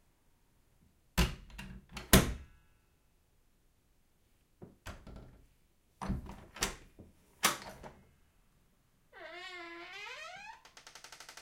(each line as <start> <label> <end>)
9.1 CREAKY DOOR SEQUENCE 11.4